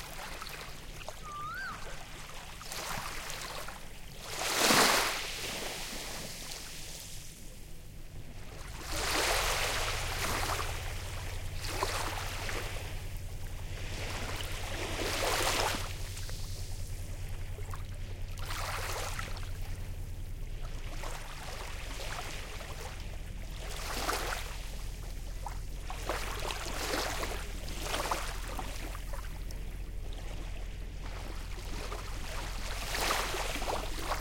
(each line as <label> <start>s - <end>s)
boats chugging past 0.0s - 34.2s
waves 0.0s - 34.2s
Asian Koel occasionally calling 1.1s - 2.2s